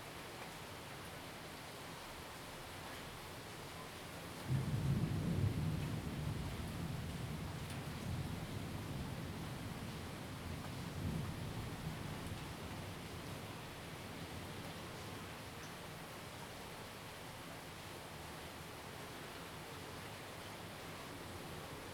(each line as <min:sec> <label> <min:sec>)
0:00.0 rain 0:21.9
0:04.5 Thunderstorms 0:09.5